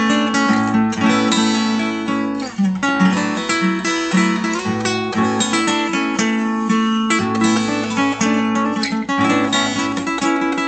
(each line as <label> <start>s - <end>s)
Guitar 0.0s - 10.6s